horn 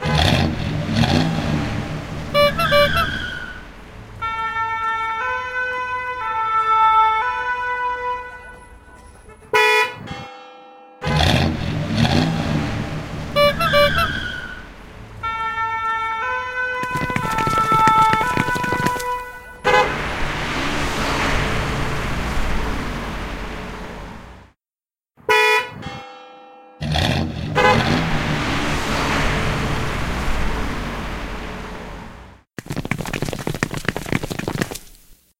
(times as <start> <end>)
2.3 3.4, 4.2 10.0, 27.5 28.1